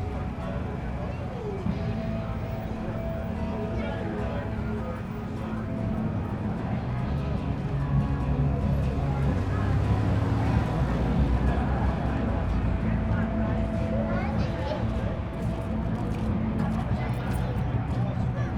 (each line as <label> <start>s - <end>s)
girl and guy talking 0.0s - 18.5s